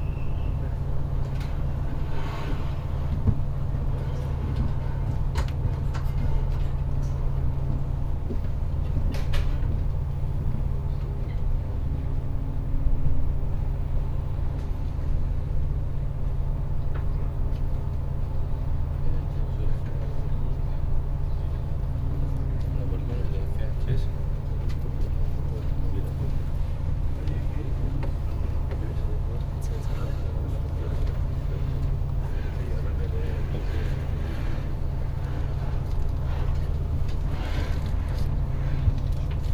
inside Speed Ferry 0.0 - 39.5

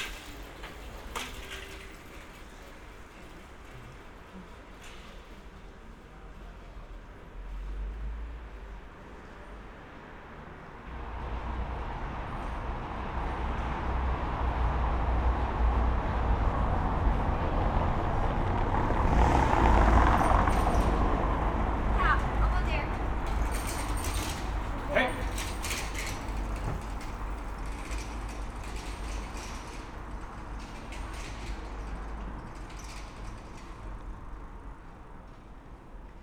cyclists 0.0 - 36.2
passers by 0.0 - 36.2
taxis 0.0 - 36.2

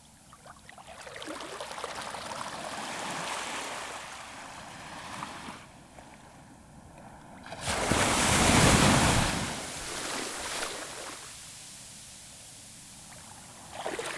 waves are big and strong 7.4 - 14.1

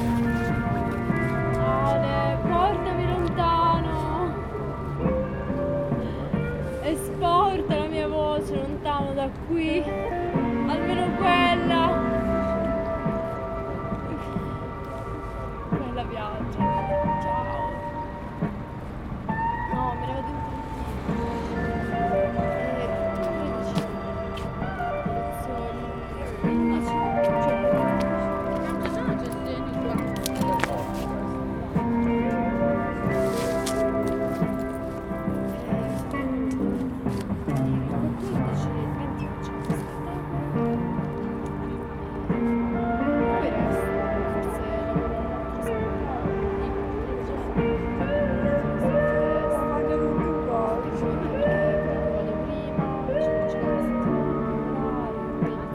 Pink Floyd played back 0.0 - 55.7
Conversation 19.8 - 32.2

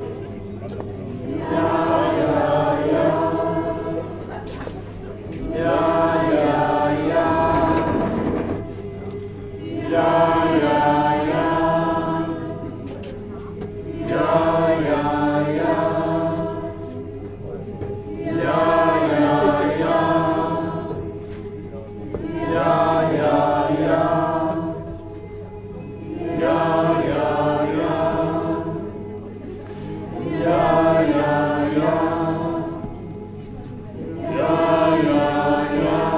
choir 0.0 - 36.1
audience humm walk 0.0 - 36.1

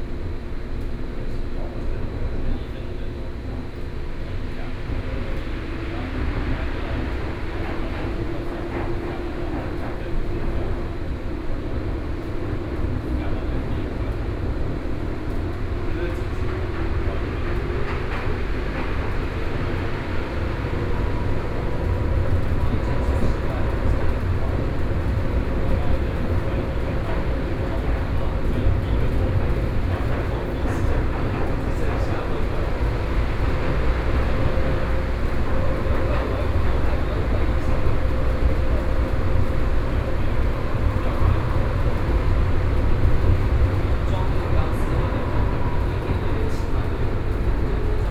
Taipei Metro 0.0 - 48.1

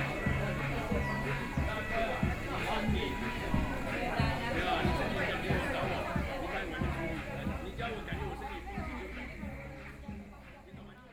elderly people were dancing 0.0 - 11.1

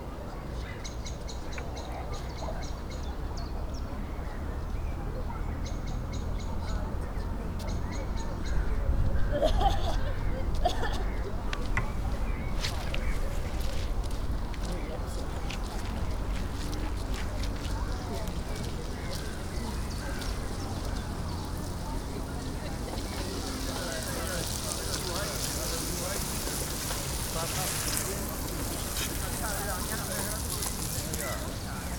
conversations of strollers 0.0 - 31.9
people talking 1.5 - 31.9
kids running about 9.6 - 31.9
hyped birds 17.4 - 31.9

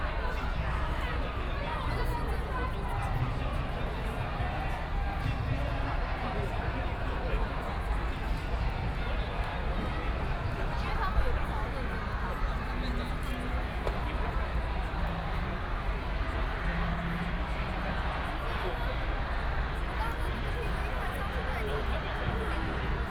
People and students 0.0 - 23.1

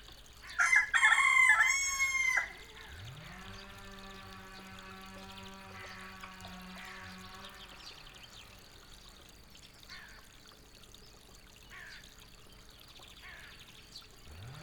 chainsaw at work 0.6 - 8.6
chainsaw at work 14.2 - 14.6

